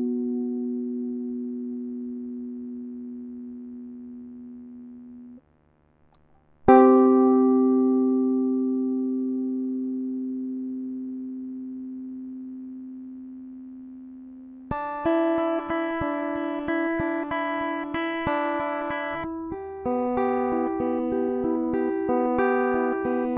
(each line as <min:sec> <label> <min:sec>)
0:00.0 guitar chords 0:05.4
0:06.6 guitar chords 0:23.3